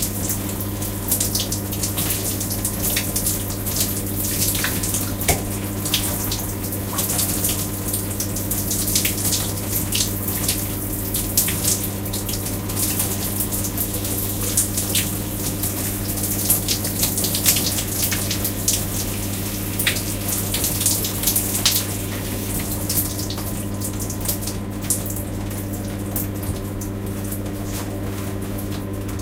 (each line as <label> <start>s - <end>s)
taking a shower 0.0s - 29.2s